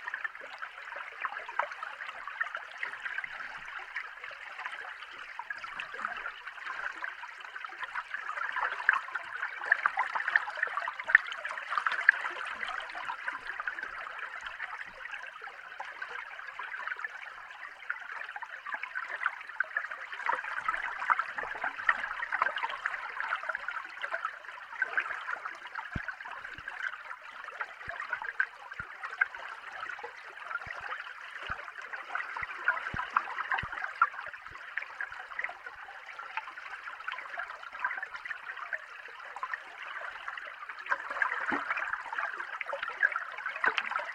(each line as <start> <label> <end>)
39.3 waves 44.1